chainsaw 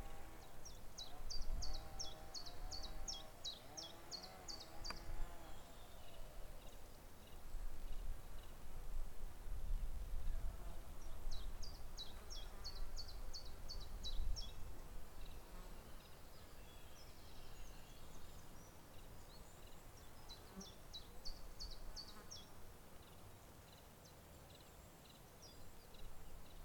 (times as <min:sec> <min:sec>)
0:01.8 0:05.6